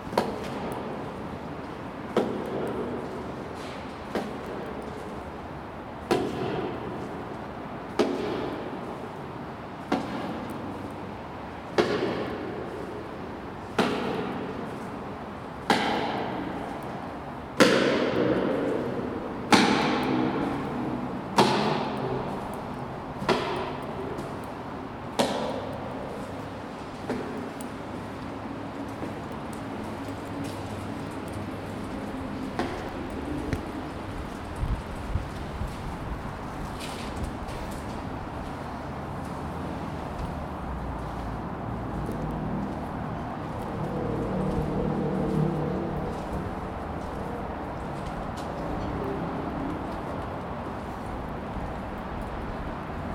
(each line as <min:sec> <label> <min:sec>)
0:00.0 motorway 0:53.1